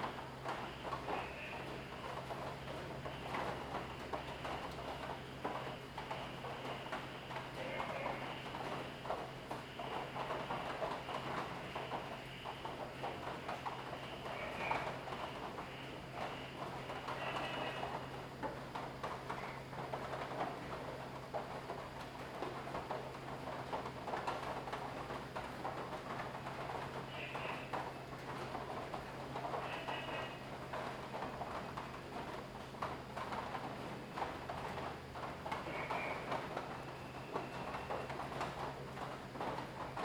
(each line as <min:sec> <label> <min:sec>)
0:00.0 Rainy Day 0:40.0